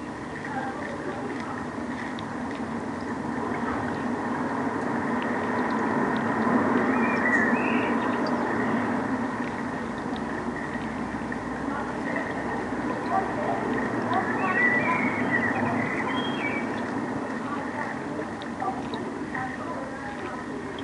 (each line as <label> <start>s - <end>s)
Corixidae (water boatmen) 0.0s - 20.8s